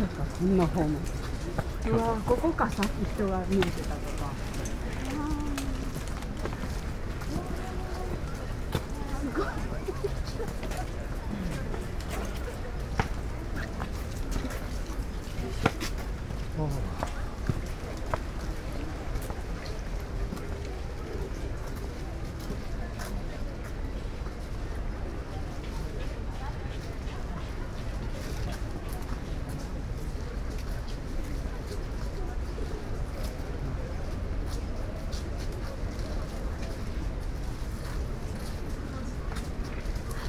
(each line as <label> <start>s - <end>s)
people and their breath(lessness) 0.0s - 23.2s